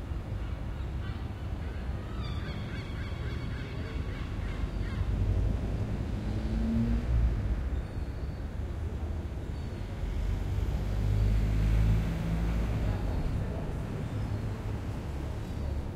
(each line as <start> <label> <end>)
5.0 cars passing 7.7
9.8 cars passing 15.9